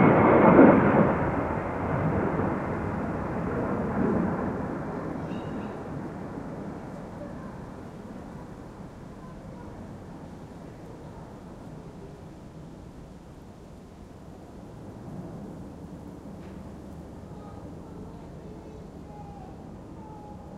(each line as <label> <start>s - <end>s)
rain drops flying in the air 0.0s - 19.0s
jet fighters flying over the silent town 0.0s - 20.5s